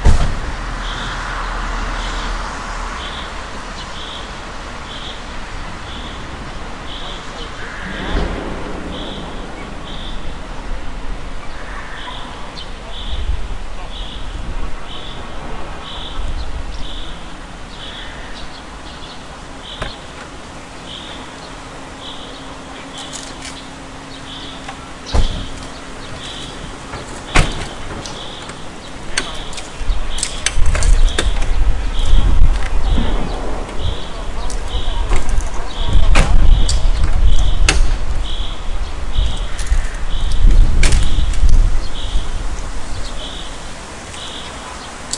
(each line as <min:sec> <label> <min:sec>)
0:00.0 cars 0:45.1
0:00.0 wind 0:45.1